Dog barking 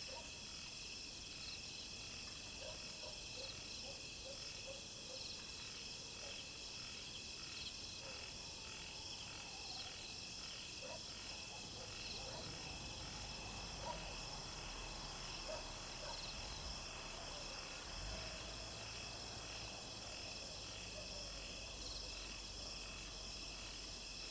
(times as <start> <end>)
0.0 0.4, 2.6 5.2, 10.8 12.7, 13.7 14.1, 15.5 16.3